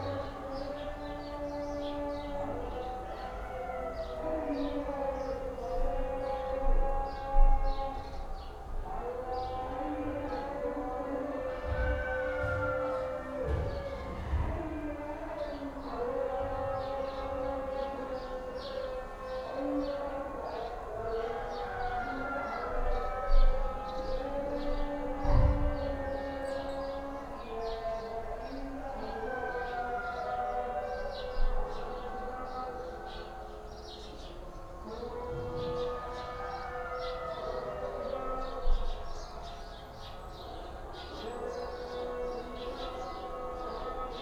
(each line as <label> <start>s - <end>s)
prayer calls from nearby and distant mosques 0.0s - 44.2s
dogs start to howl 11.4s - 15.0s